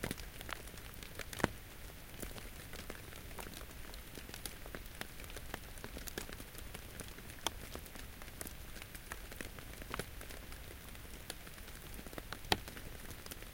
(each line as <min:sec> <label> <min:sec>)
0:00.0 Light rain falling in the forest 0:13.5
0:00.0 pops and plops as raindrops hit the understory leaves 0:13.5